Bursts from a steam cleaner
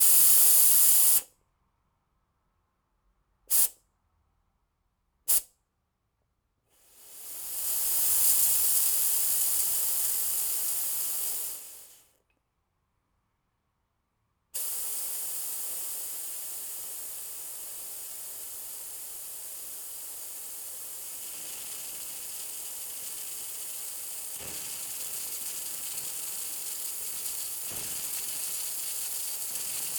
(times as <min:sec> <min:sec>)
0:00.0 0:01.3, 0:03.5 0:03.8, 0:05.3 0:05.5, 0:06.8 0:12.1, 0:14.6 0:29.9